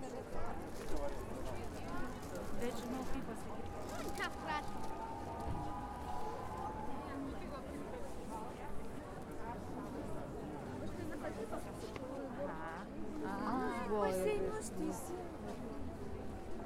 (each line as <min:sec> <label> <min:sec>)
0:00.0 crowd noise 0:16.6